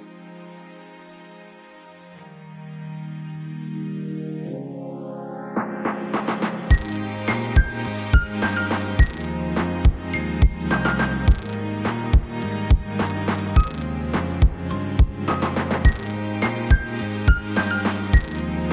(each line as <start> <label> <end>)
0.0 strings 18.7
5.5 Hip Hop Beat 16.1